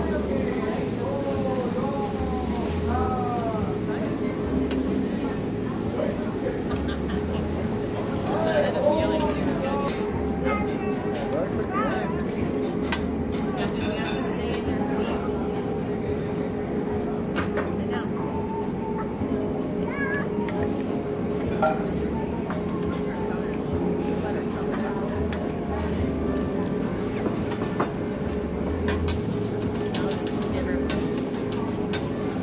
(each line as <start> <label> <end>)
28.8 teppanyaki knife and spatula sounds 32.4